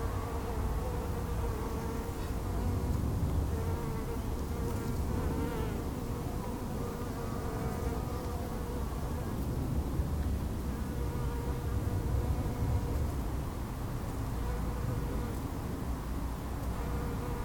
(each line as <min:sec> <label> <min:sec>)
0:00.0 bees in the bush 0:17.4
0:00.0 murmur of traffic from the nearby main road 0:17.4
0:00.0 wind rifling through the stiff branches 0:17.4